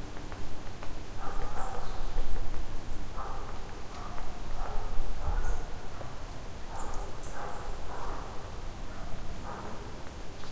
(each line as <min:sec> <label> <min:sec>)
0:00.0 wind 0:10.5
0:01.2 dogs 0:02.0
0:03.1 dogs 0:09.9